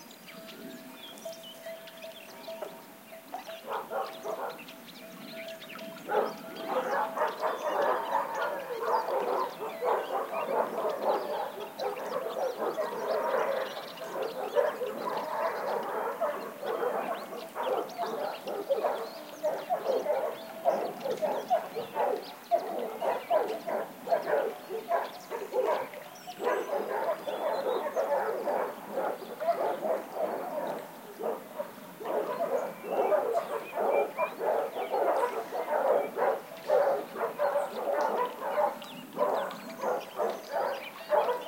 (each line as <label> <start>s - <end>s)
birds singing 0.0s - 41.4s
sheepbells 0.3s - 8.3s
dogs barking 3.4s - 4.7s
dogs barking 6.0s - 41.4s